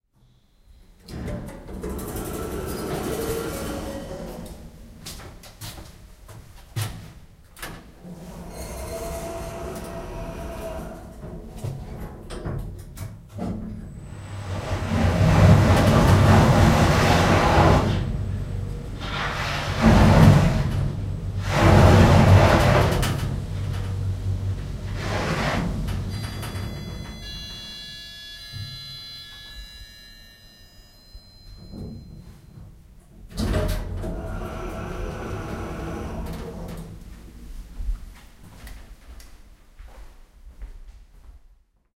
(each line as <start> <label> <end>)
0.9 noisy Elevator 39.0
7.6 Doors closed 29.8
31.4 Doors closed 37.4